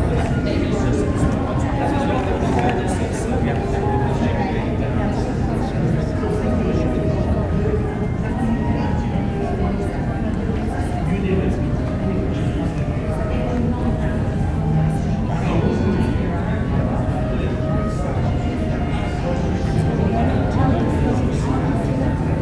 harpist plays 0:00.0 - 0:22.4
pianist 0:00.0 - 0:22.4
string quartet 0:00.0 - 0:22.4

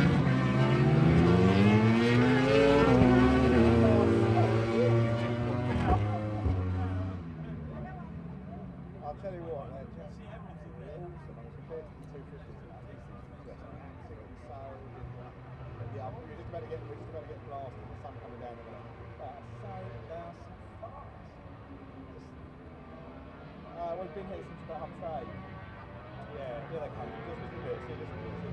Motorcycle 0:00.0 - 0:28.5

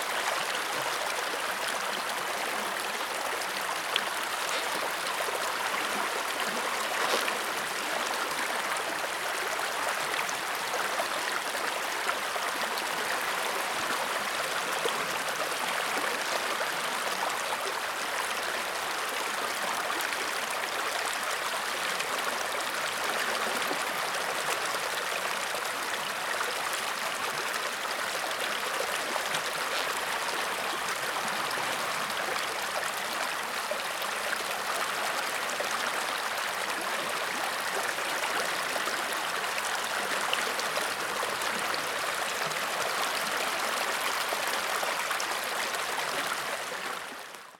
river running 0:00.0 - 0:47.5

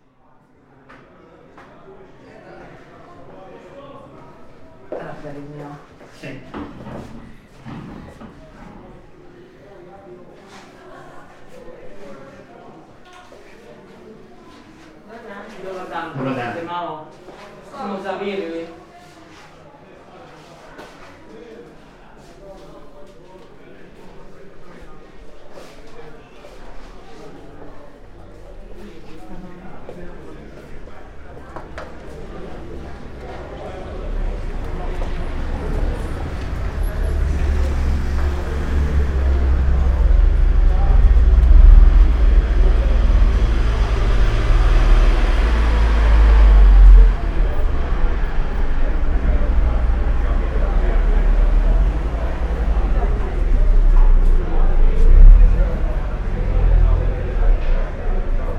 steps 0:25.5 - 0:55.3
cars 0:26.7 - 0:58.5
moped 0:31.6 - 0:58.5

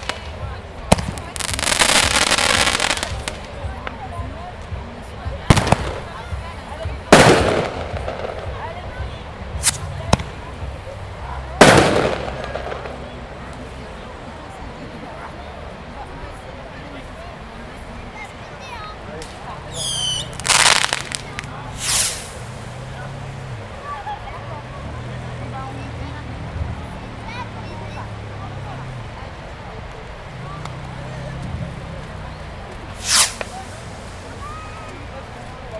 Fireworks 0:00.0 - 0:04.1
Fireworks 0:05.3 - 0:10.4
Fireworks 0:11.6 - 0:13.6
Fireworks 0:19.2 - 0:22.7
Fireworks 0:32.7 - 0:35.0

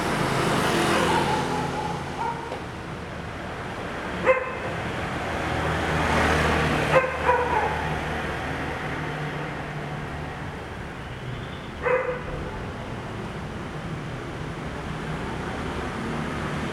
Traffic Sound 0:00.0 - 0:16.7
Dogs barking 0:00.9 - 0:02.6
Dogs barking 0:04.2 - 0:04.8
Dogs barking 0:06.8 - 0:08.1
Dogs barking 0:11.8 - 0:12.7

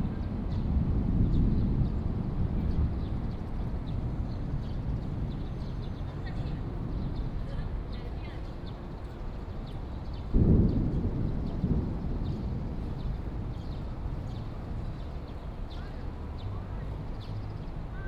Thunder 0:00.0 - 0:03.9
Thunder 0:10.3 - 0:14.8

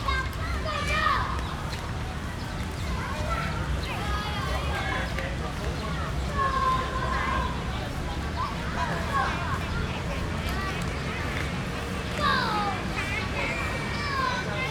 Children 0:00.0 - 0:14.7

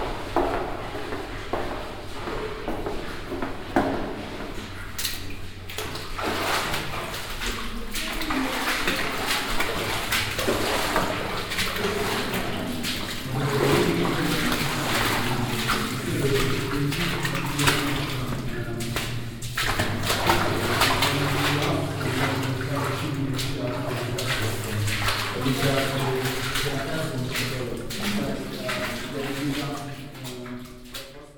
Walking on wooden planks 0:00.0 - 0:31.2
water 0:00.0 - 0:31.3

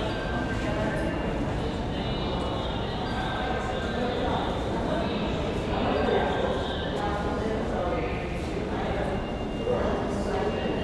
passengers are waiting 0:00.0 - 0:10.8

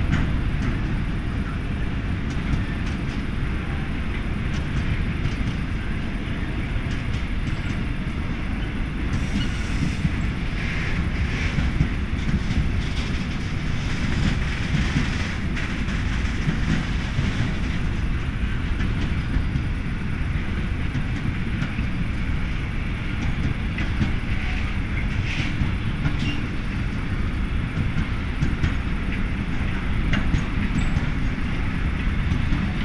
train 0:00.0 - 0:32.8

